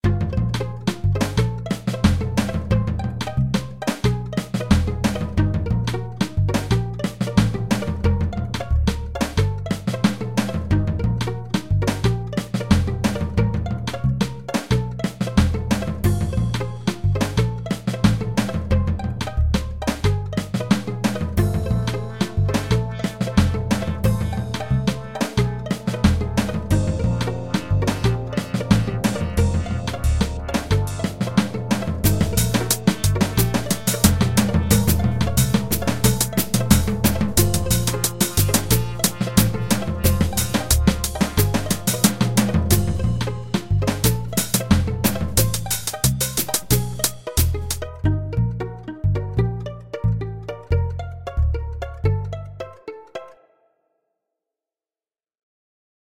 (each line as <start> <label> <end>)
0.0 beat 49.4